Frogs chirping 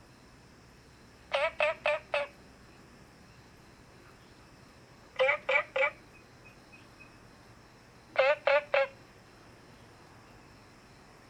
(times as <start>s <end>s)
1.3s 3.6s, 5.2s 9.1s